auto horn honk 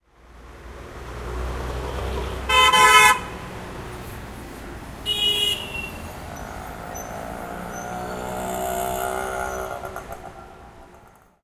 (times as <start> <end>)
2.5 3.4, 5.0 6.1